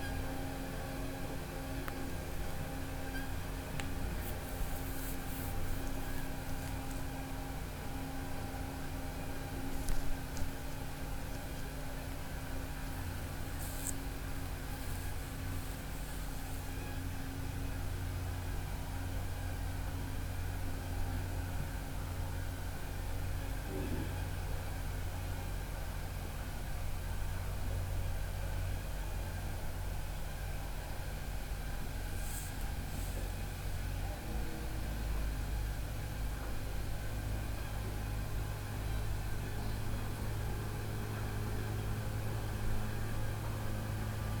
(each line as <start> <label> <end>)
0.0 motor sounds from the rigs on the lake 44.4